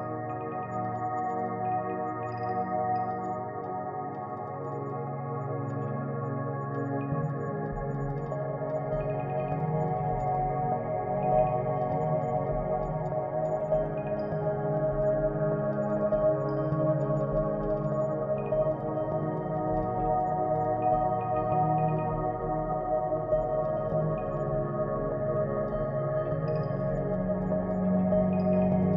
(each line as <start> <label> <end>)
0.0 Light and beautiful pad 28.9